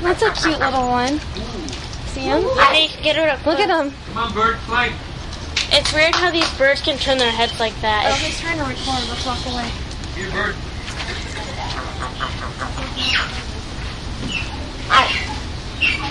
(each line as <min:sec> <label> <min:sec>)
0:00.0 people 0:16.1
0:07.1 birds 0:13.5
0:14.2 birds 0:16.1